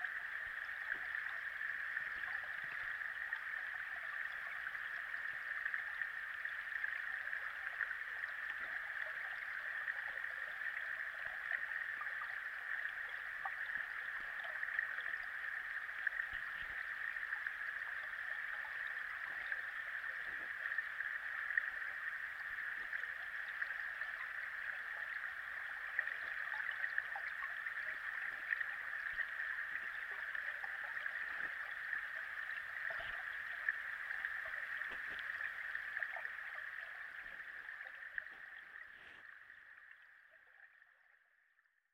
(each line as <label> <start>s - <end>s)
waterfall 0.0s - 39.8s